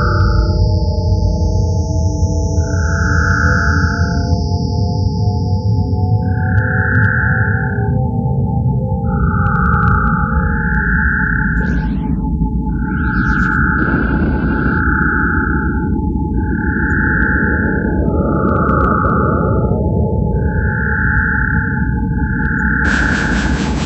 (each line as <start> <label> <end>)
11.2 space noises 20.0
22.8 space noises 23.8